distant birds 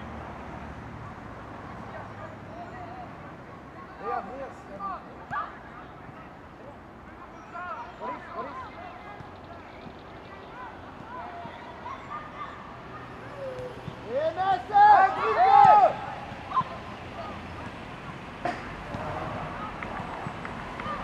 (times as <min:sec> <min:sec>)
0:07.2 0:12.8